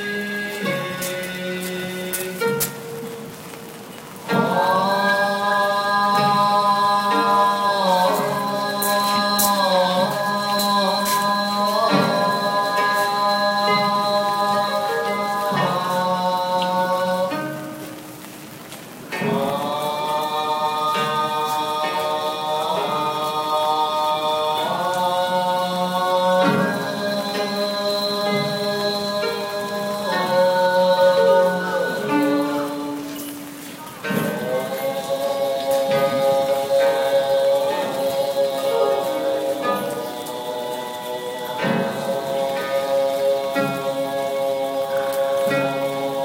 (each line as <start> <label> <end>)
0.0 song 46.2